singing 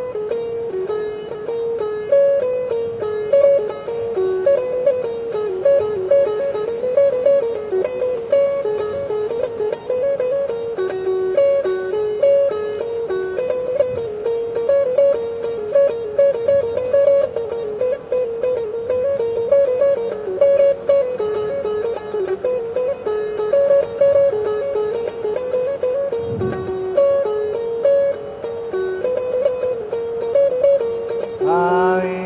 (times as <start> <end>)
31.4 32.2